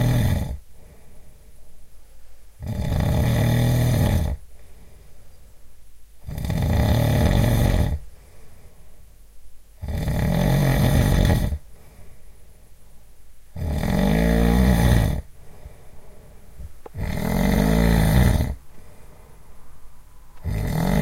snoring of a man 0:00.0 - 0:00.6
snoring of a man 0:02.6 - 0:04.4
snoring of a man 0:06.2 - 0:08.0
snoring of a man 0:09.8 - 0:11.6
snoring of a man 0:13.6 - 0:15.3
snoring of a man 0:16.9 - 0:18.6
snoring of a man 0:20.4 - 0:21.0

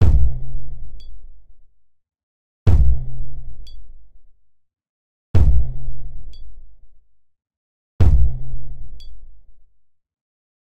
drum 0:00.0 - 0:00.4
drum 0:02.7 - 0:03.2
drum 0:05.4 - 0:05.8
drum 0:08.0 - 0:08.6

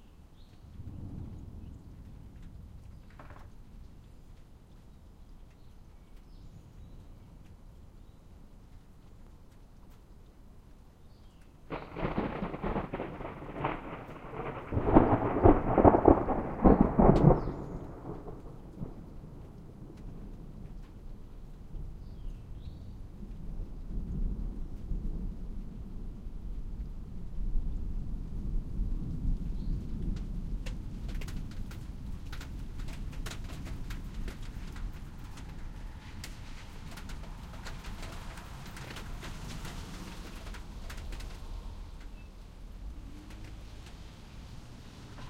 spotty rain 0:00.0 - 0:45.2
water dripping 0:00.4 - 0:14.2
hail coming down 0:11.7 - 0:22.0
peal of thunder 0:11.7 - 0:20.8
hail coming down 0:26.4 - 0:45.2
car passes 0:35.2 - 0:45.2

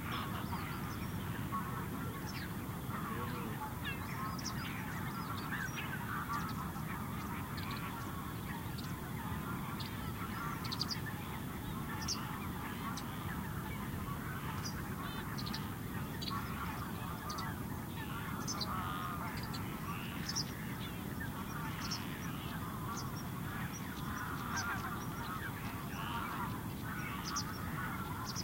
calls from birds 0:00.0 - 0:28.4
frogs 0:00.0 - 0:28.4
rumble of waves on a very distant shore 0:00.0 - 0:28.4

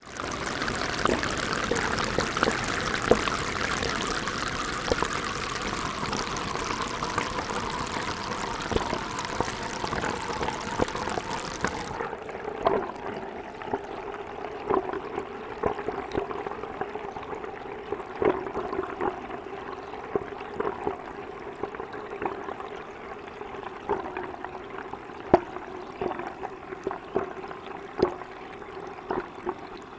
water pouring into a bathroom sink from a tap 0:00.0 - 0:12.1

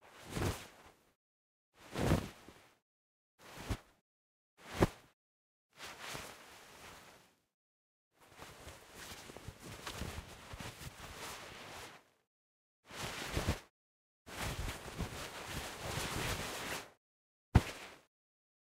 Cloth Movement - Jacket 0:00.0 - 0:01.0
Cloth Movement - Jacket 0:01.8 - 0:02.7
Cloth Movement - Jacket 0:03.5 - 0:03.9
Cloth Movement - Jacket 0:04.6 - 0:05.0
Cloth Movement - Jacket 0:05.8 - 0:07.4
Cloth Movement - Jacket 0:08.2 - 0:12.1
Cloth Movement - Jacket 0:12.9 - 0:13.7
Cloth Movement - Jacket 0:14.3 - 0:16.9
Cloth Movement - Jacket 0:17.6 - 0:18.1

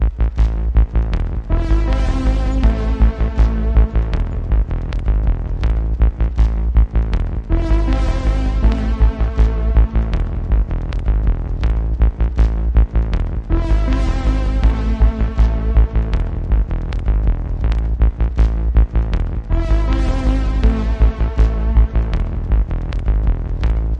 Reverb Bass 0:00.0 - 0:23.9

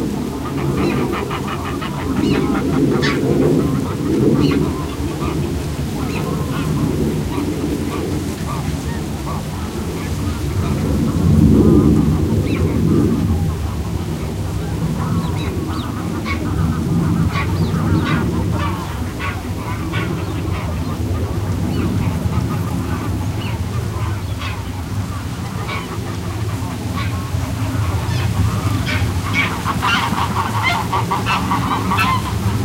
Greylag Geese honking 0:00.0 - 0:32.6
airplane overheading 0:00.0 - 0:32.6
wind on reed and grasses 0:00.0 - 0:32.6

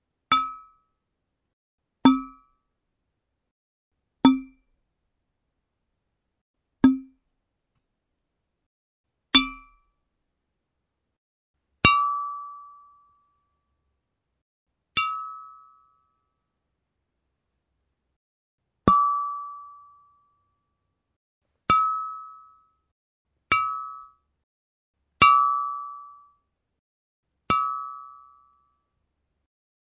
glass 0:00.3 - 0:01.0
glass 0:02.0 - 0:02.6
glass 0:04.2 - 0:04.7
glass 0:06.8 - 0:07.2
glass 0:09.3 - 0:09.9
glass 0:11.8 - 0:13.5
glass 0:15.0 - 0:16.4
glass 0:18.9 - 0:20.6
glass 0:21.7 - 0:22.9
glass 0:23.5 - 0:24.3
glass 0:25.2 - 0:26.5
glass 0:27.5 - 0:29.0

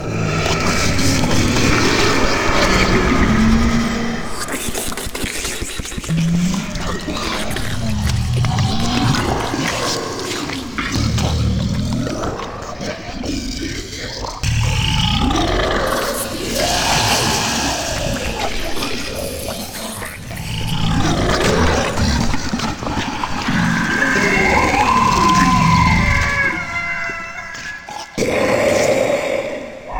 growl 0:00.0 - 0:29.9
snarl 0:00.0 - 0:29.9
bite 0:02.6 - 0:12.4
dripping 0:04.2 - 0:11.9
bite 0:14.4 - 0:26.2
dripping 0:15.2 - 0:23.0

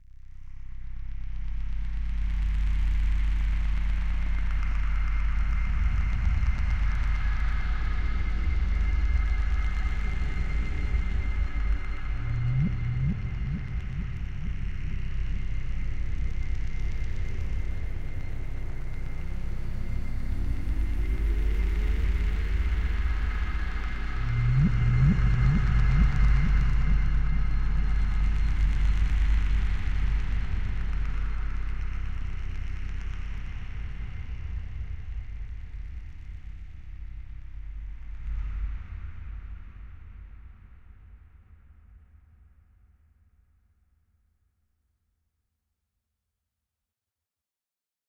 ambient drone 0:00.4 - 0:39.5

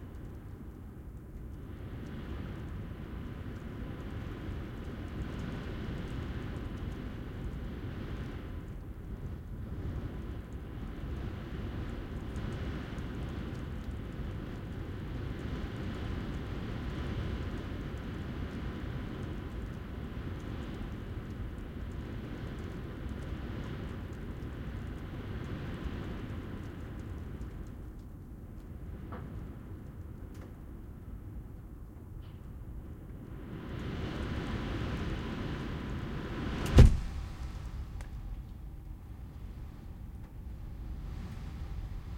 distant exterior world 0:00.0 - 0:42.1
high winds 0:00.0 - 0:42.1
open window which eventually blows shut 0:36.3 - 0:37.9

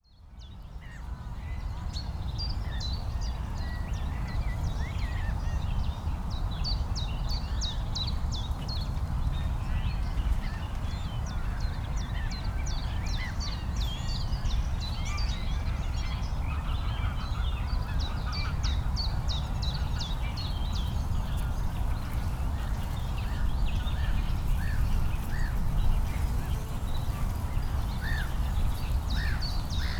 birds 0:09.9 - 0:29.9

